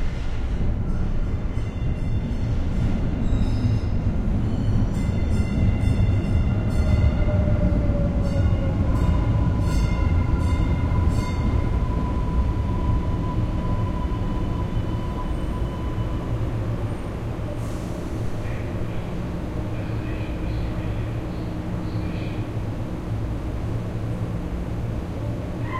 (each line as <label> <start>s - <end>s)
Subway train arrives at station 0.0s - 25.7s